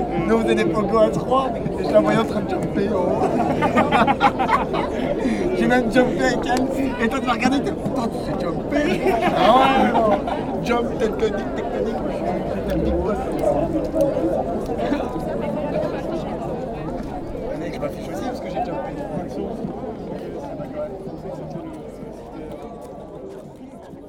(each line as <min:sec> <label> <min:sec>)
0:01.1 students taning, joking and drinking warm bad beers 0:08.0
0:08.6 students taning, joking and drinking warm bad beers 0:15.4